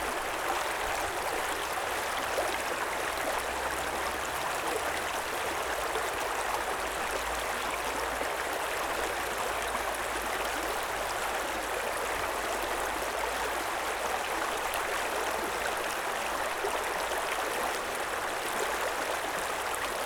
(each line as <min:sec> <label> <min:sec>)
0:00.0 Running creek 0:20.0